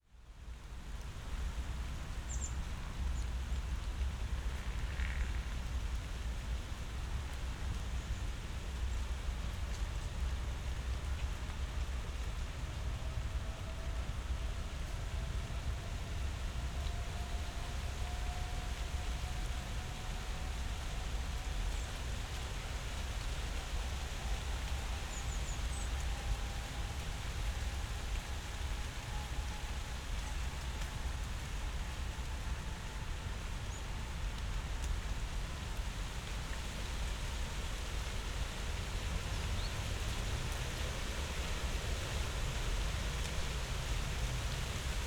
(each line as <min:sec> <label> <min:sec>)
0:00.1 rain drops 0:45.0
0:00.8 light breeze in the poplars 0:45.0
0:01.4 falling leaves 0:45.0